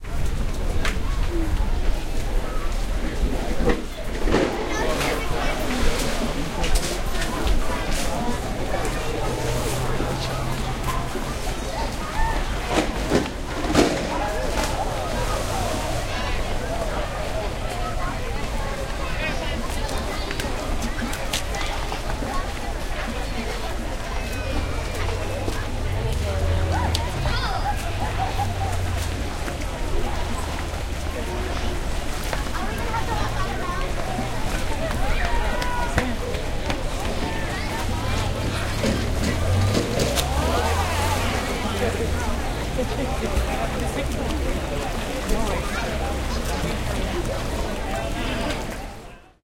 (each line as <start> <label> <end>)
0.0 water 49.4